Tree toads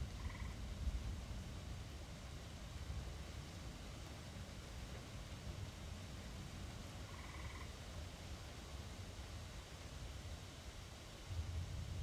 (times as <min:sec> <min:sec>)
0:00.1 0:00.6, 0:07.1 0:07.8